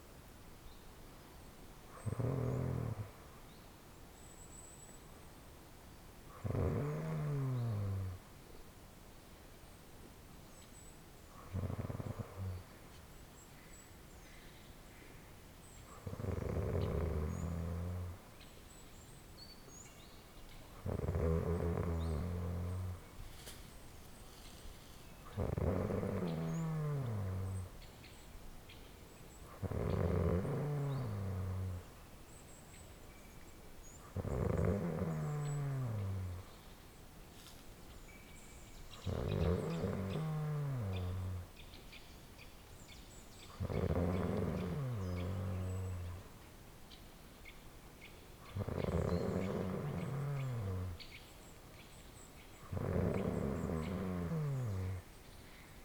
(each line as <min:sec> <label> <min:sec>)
0:02.0 snoring gently 0:03.2
0:06.4 snoring gently 0:08.2
0:11.4 snoring gently 0:12.7
0:16.0 snoring gently 0:18.2
0:20.8 snoring gently 0:23.5
0:24.2 snoring gently 0:27.7
0:29.6 snoring gently 0:31.8
0:34.1 snoring gently 0:36.5
0:39.0 snoring gently 0:41.5
0:43.6 snoring gently 0:46.2
0:48.5 snoring gently 0:51.1
0:52.6 snoring gently 0:55.1